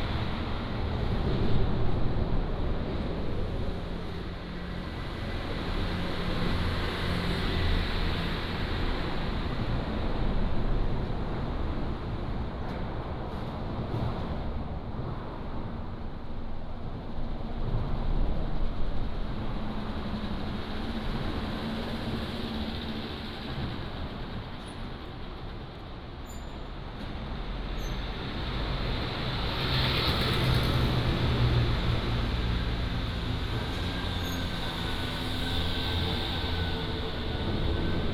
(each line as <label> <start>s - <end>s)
Traffic 0.0s - 38.1s